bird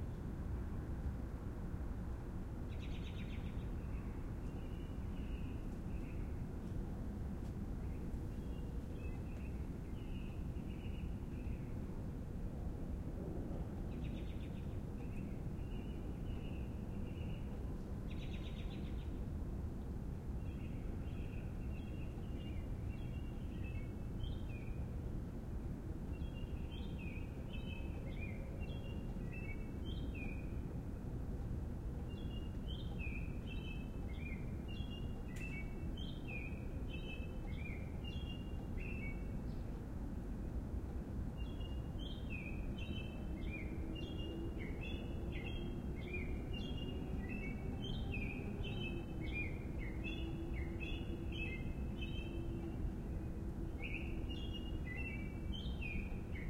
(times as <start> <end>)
32.0 39.7, 41.4 52.9